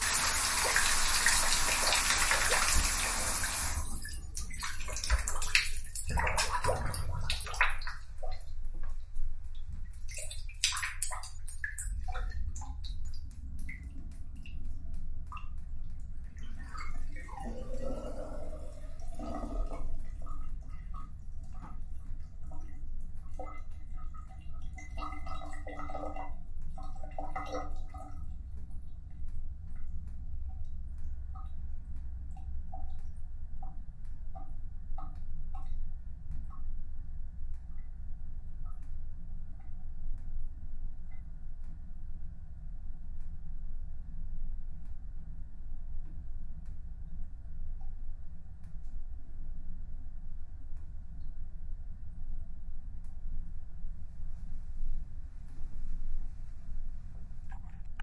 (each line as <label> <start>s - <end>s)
water going down my shower drain 0.0s - 36.6s